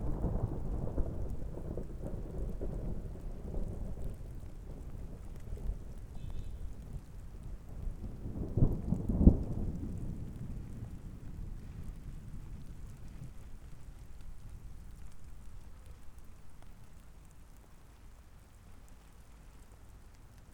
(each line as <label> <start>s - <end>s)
Thunder 0.0s - 13.7s